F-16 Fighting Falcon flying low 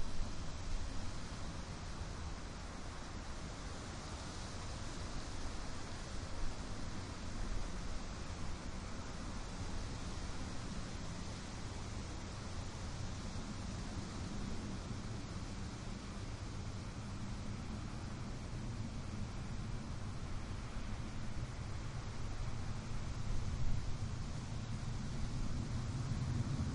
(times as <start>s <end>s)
23.0s 26.7s